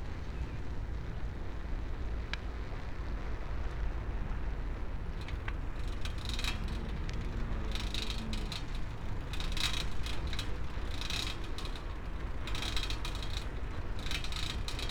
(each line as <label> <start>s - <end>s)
bicycle 0.0s - 14.9s